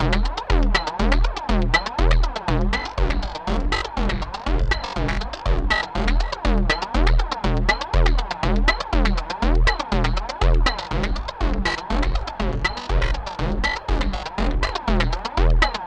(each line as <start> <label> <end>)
0.0 Percussion 15.8